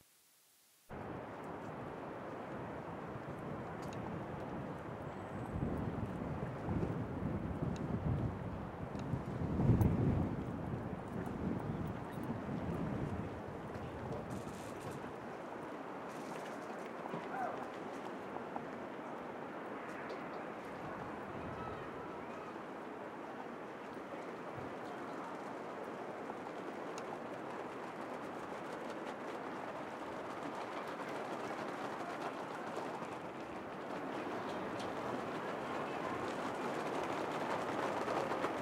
sea 0:10.4 - 0:38.6

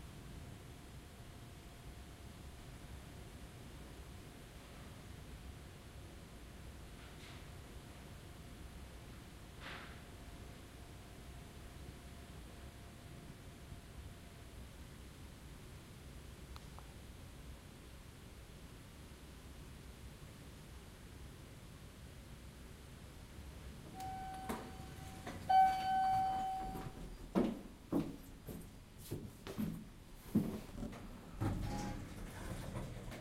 doors 0:23.9 - 0:33.2

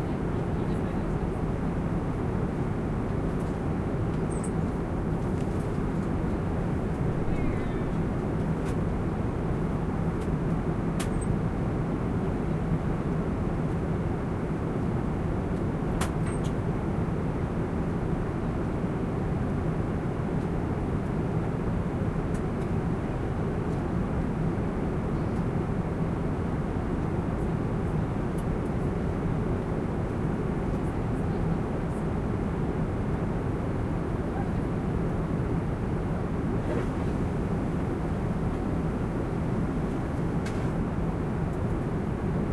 engine and air noise 0:00.0 - 0:42.5

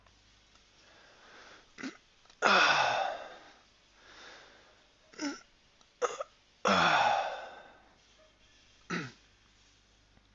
Yawn 0:01.8 - 0:03.6
Yawn 0:06.7 - 0:07.8

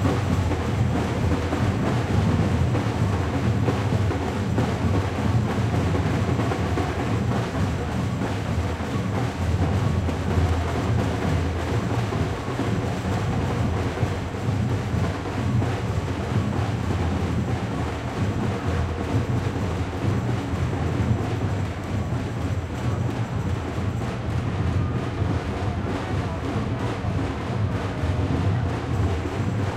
people 0:00.0 - 0:29.7

